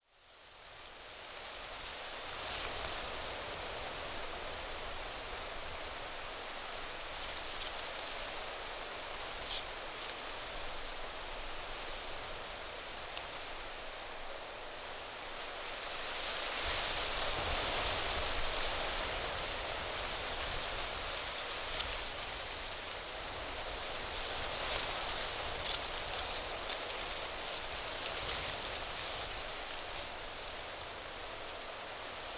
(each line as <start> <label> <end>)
0.0 wind in the trees 32.3